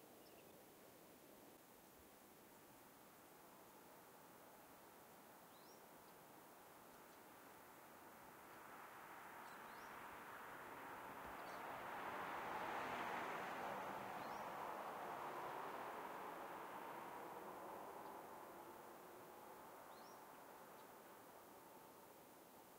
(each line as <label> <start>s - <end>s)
car passes 7.6s - 22.4s
birds 19.8s - 21.4s